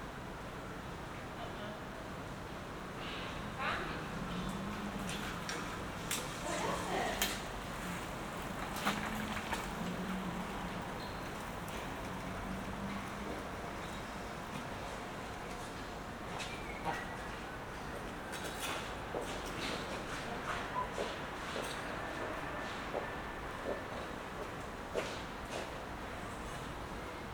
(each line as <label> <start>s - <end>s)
night traffic 0.0s - 27.3s
cyclists 2.2s - 27.3s
passers by 3.7s - 16.2s